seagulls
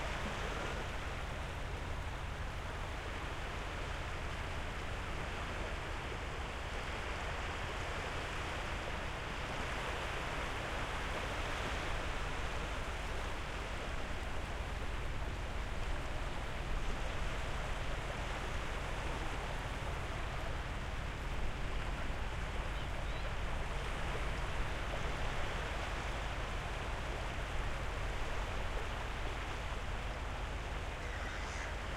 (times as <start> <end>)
31.0 31.9